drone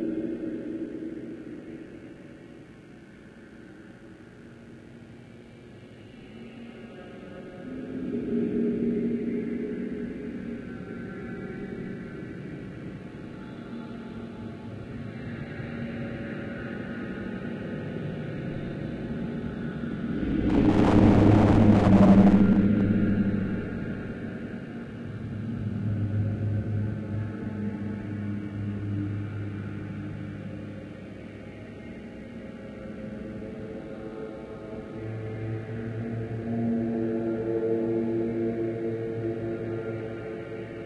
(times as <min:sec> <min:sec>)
0:18.5 0:24.7